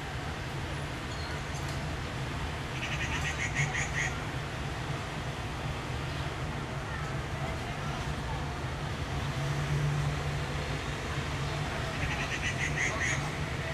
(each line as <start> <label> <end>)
6.0 teenagers can just be heard talking 9.5
12.0 Waterfowl 13.3